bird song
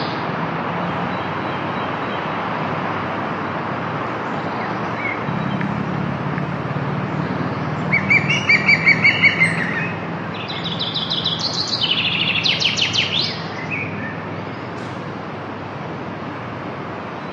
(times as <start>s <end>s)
0.9s 2.4s, 4.2s 15.0s